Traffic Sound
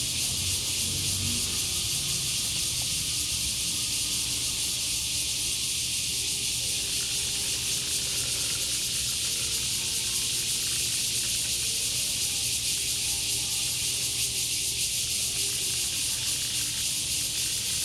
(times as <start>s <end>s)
0.0s 5.5s